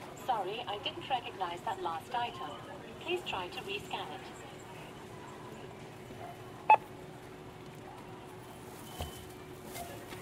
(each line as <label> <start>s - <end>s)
Scanning groceries at a supermarket self-service checkout 0.0s - 10.2s